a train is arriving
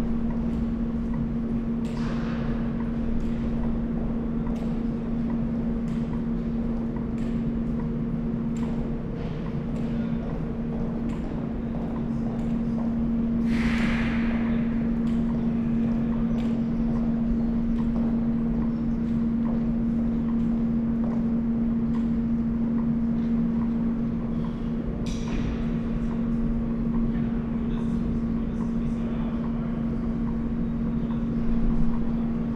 9.4s 20.0s

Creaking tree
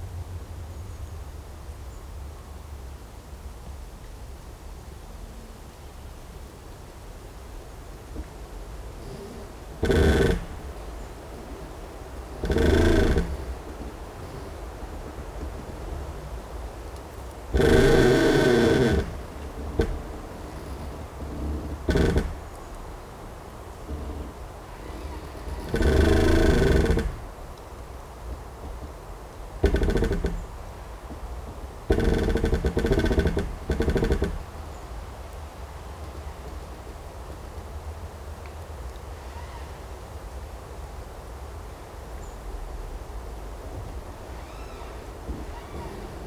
8.0s 35.0s, 43.4s 46.2s

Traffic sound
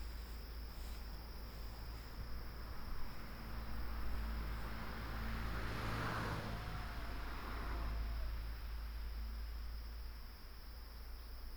0.0s 8.3s

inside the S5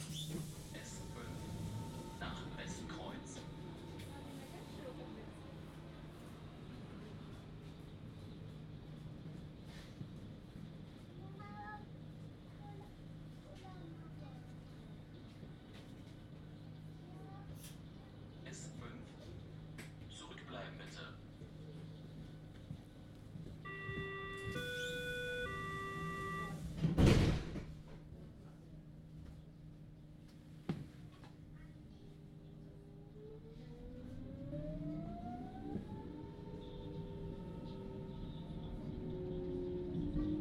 23.3s 27.0s

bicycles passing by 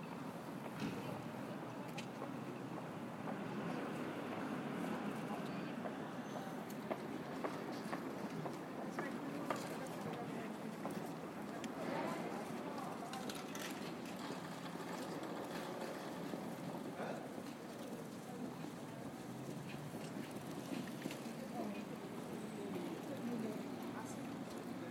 6.4s 24.9s

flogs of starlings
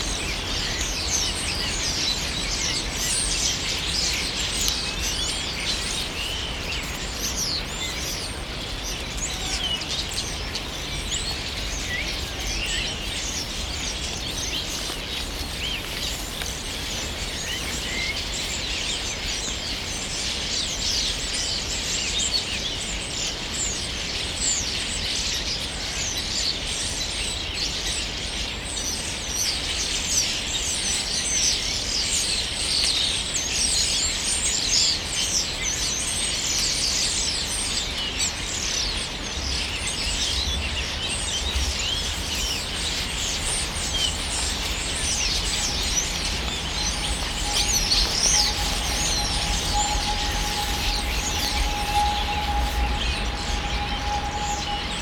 38.6s 55.0s

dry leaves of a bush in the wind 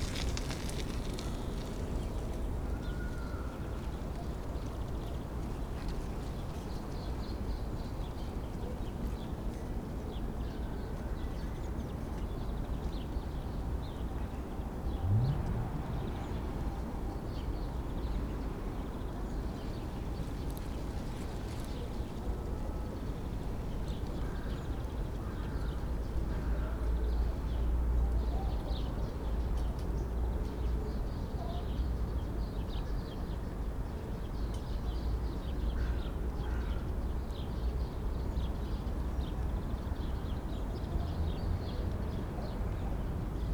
0.0s 8.6s, 15.0s 30.1s

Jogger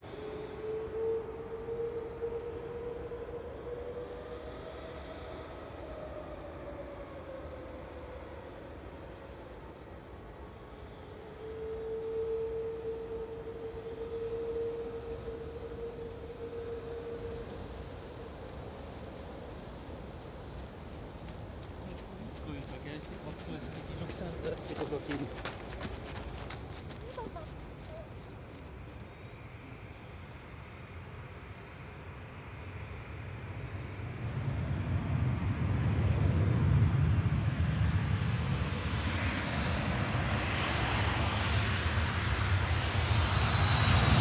21.2s 29.2s

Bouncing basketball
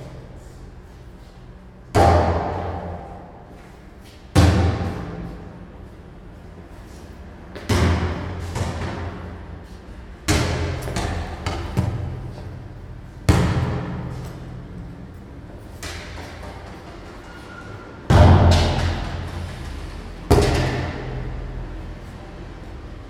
1.9s 3.2s, 4.3s 5.5s, 7.5s 9.4s, 10.2s 14.6s, 15.7s 17.1s, 18.1s 21.3s

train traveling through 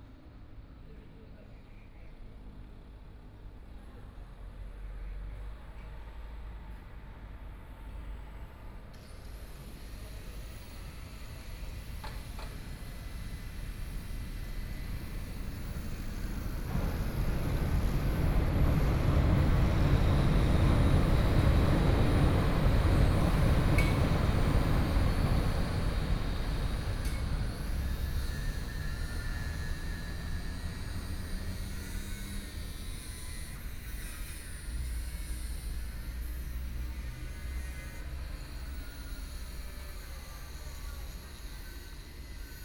8.9s 42.6s

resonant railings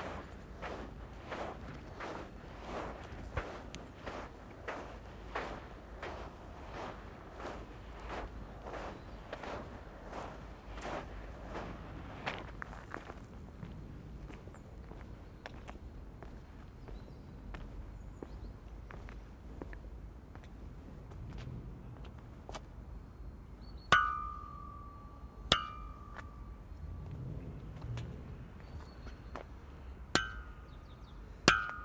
23.9s 27.8s

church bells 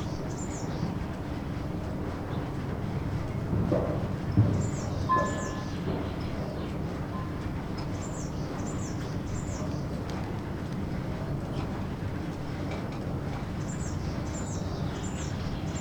5.1s 6.1s

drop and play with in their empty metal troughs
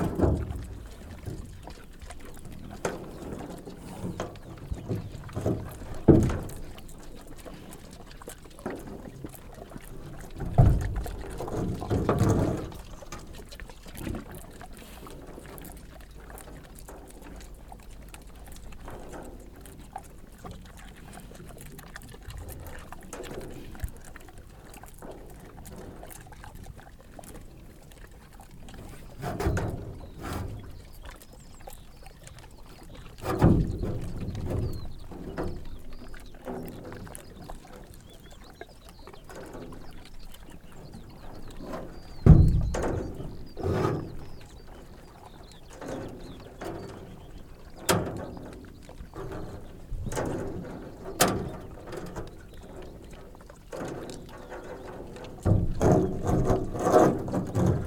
0.0s 1.5s, 10.4s 13.4s, 53.7s 57.8s

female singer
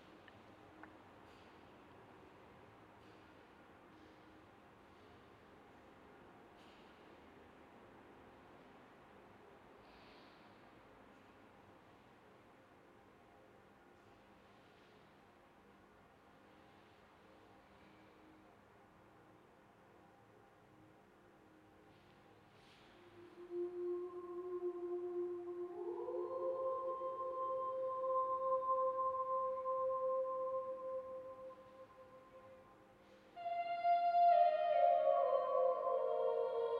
23.2s 32.3s, 33.4s 36.7s

